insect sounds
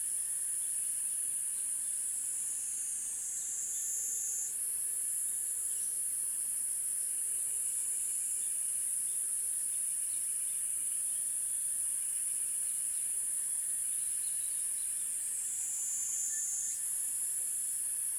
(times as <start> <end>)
13.8 18.1